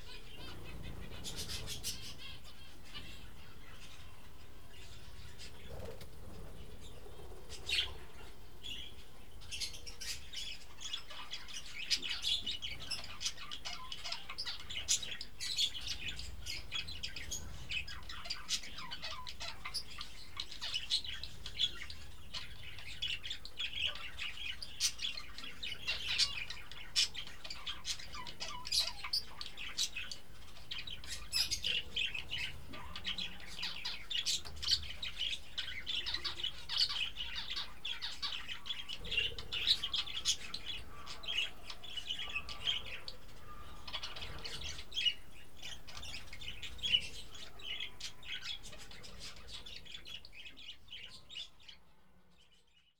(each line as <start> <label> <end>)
0.0 parrots 52.9